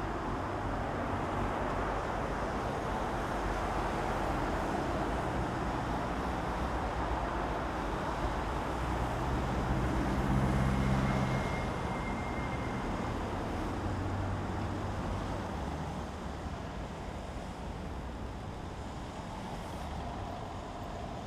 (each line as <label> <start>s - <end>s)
traffic 0.0s - 21.2s